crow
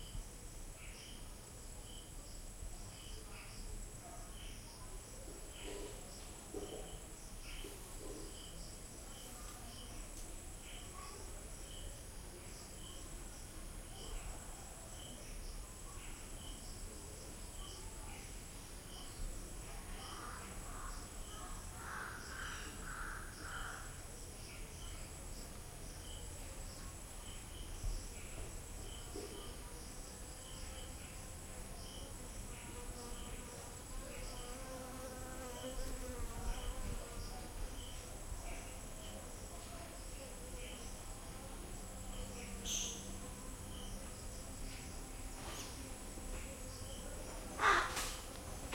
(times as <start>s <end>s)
21.8s 24.0s, 47.6s 48.2s